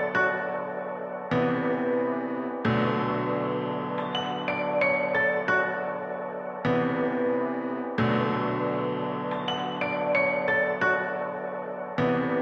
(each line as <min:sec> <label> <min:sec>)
0:00.0 piano 0:12.4